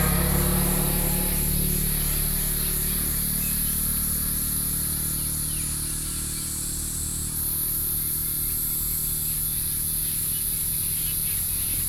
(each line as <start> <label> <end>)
0.0 Traffic Sound 4.2
0.0 Cicadas cry 11.8